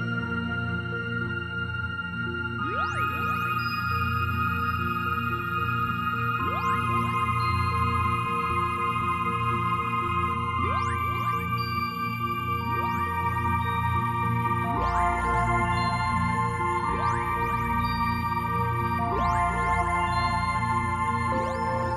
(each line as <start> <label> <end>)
0.0 synth 21.9